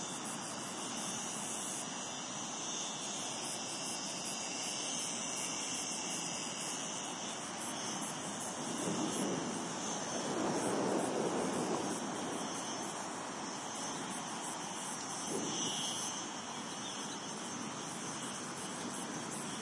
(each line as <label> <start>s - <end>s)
Singing cicadas 0.0s - 19.6s
gusts of wind 8.0s - 16.8s